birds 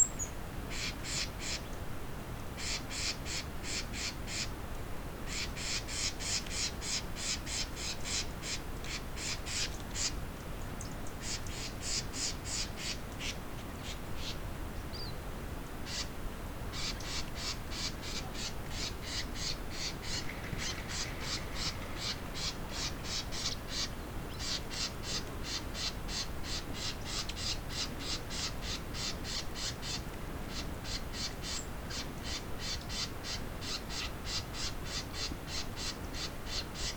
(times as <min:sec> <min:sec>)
0:15.8 0:36.9